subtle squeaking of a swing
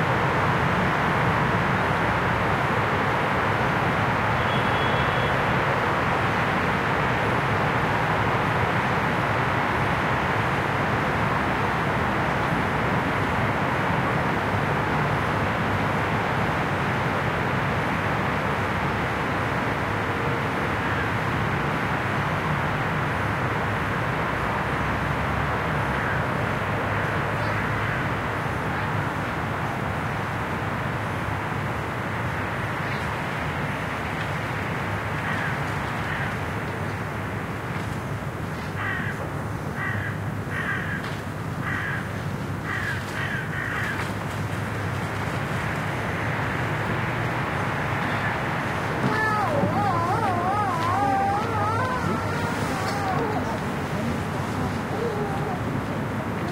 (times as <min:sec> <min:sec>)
0:48.1 0:56.5